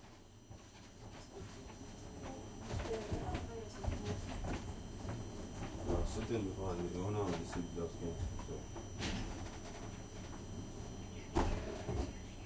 train journey 0:00.0 - 0:12.4

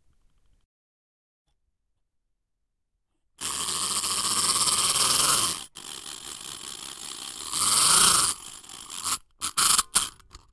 ladybug wind-up tin toy 0:03.4 - 0:10.5

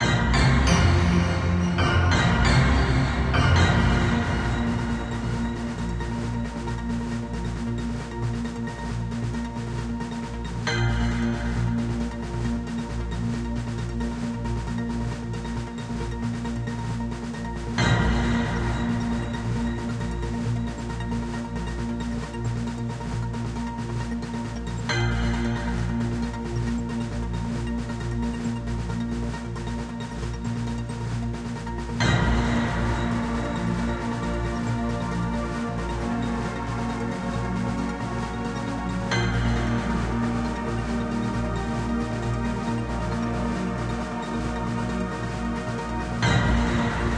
jingle 0:00.0 - 0:05.5

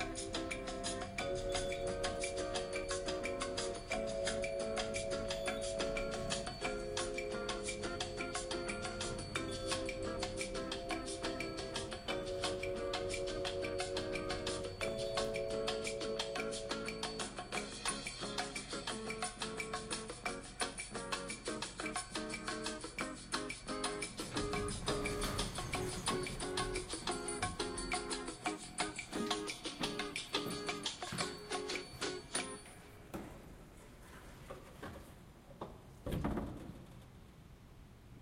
elevator music 0:00.0 - 0:33.1
doors 0:03.1 - 0:12.4
doors 0:24.1 - 0:37.4

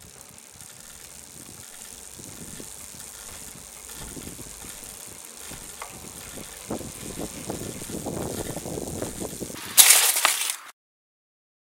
Mountain-Bike Crash Skid 0:00.1 - 0:10.7

